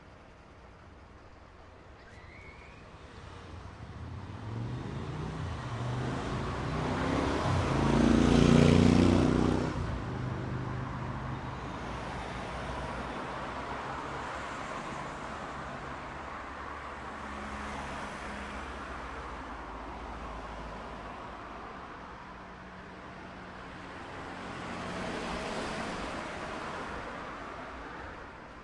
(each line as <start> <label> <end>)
0.0 Bus 28.6
0.0 Traffic 28.6